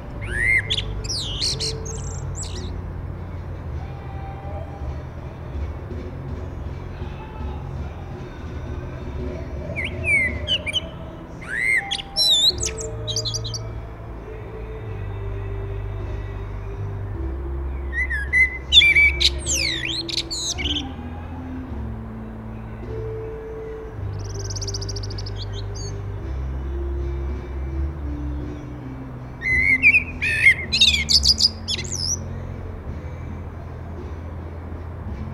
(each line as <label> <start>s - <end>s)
Common Blackbird 0.2s - 2.8s
Common Blackbird 9.4s - 13.8s
Common Blackbird 17.7s - 21.2s
Common Blackbird 23.6s - 26.1s
Common Blackbird 29.4s - 32.4s